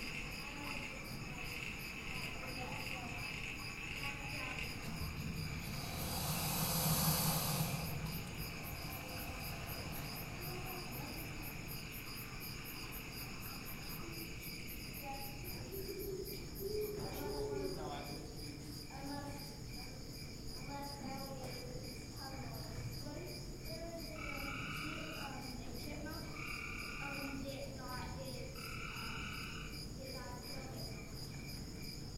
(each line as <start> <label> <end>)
0.0 wildlife 32.1